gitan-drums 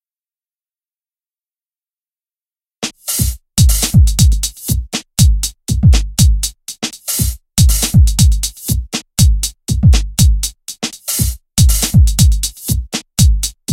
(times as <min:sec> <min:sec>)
0:02.8 0:13.7